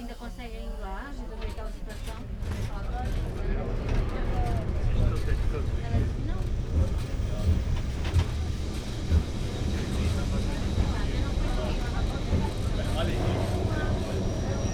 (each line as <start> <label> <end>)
0.0 ride on tram 28E 14.7